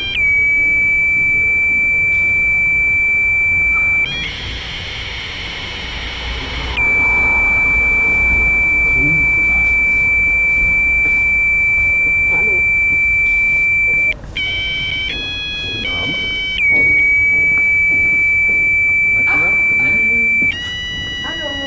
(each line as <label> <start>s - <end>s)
happy birthday 6.6s - 21.6s